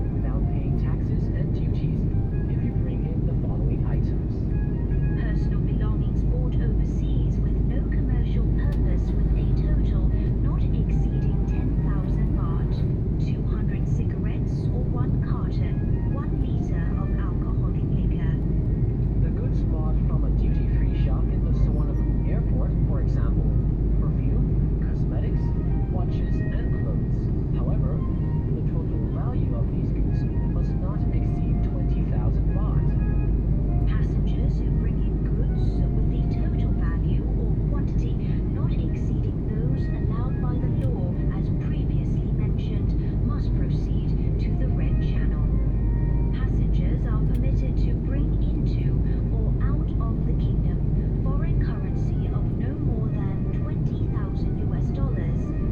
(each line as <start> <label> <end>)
0.0 Broadcast in the cabin 55.7